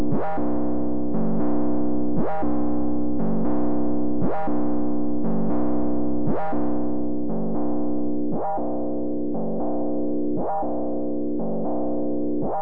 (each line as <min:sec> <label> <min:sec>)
0:00.0 synth Bass 0:12.6